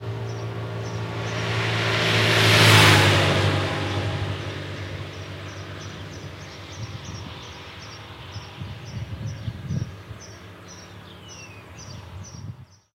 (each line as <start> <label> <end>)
0.0 passing motorcycle 12.6